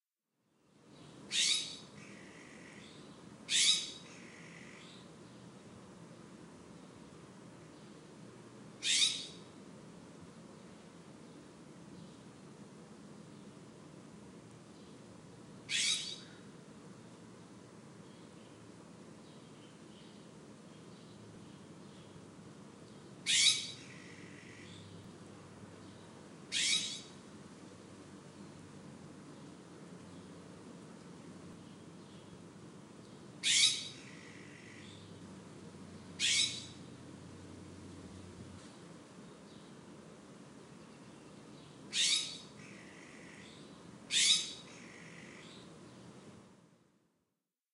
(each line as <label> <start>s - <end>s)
ambient hiss 0.6s - 47.1s
jays calling to each other 26.6s - 27.1s
jays calling to each other 33.4s - 33.9s
jays calling to each other 36.2s - 36.7s
jays calling to each other 44.1s - 44.6s